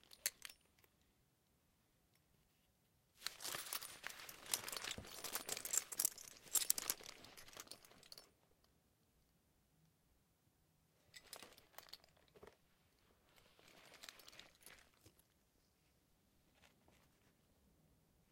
3.2s harness handling 8.2s

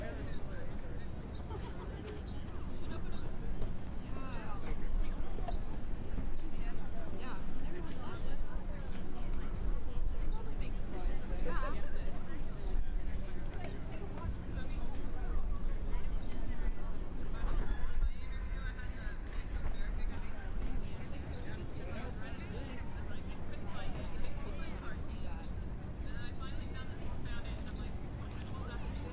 0.0s Traffic noise in background 29.1s

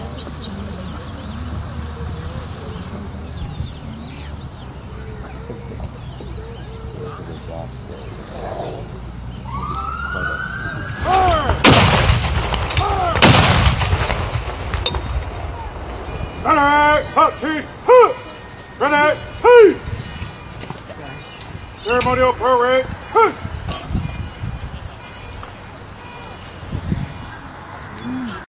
0.0s empty crowd noise 28.4s
9.4s mild siren 11.6s
11.0s ceremonial cannon fire 16.4s
15.3s closing remarks 28.4s
15.6s mild siren 28.4s

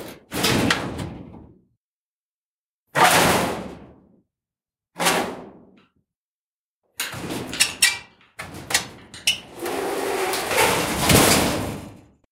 0.0s Metal Shed Door - Hits, Clangs, Rattle 1.5s
7.0s Metal Shed Door - Hits, Clangs, Rattle 12.1s

